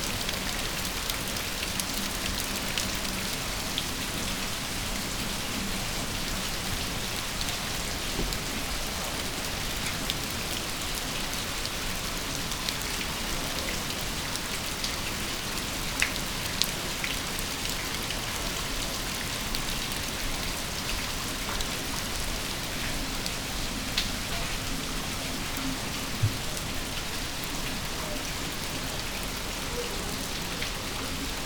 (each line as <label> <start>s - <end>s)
rain 0.0s - 31.4s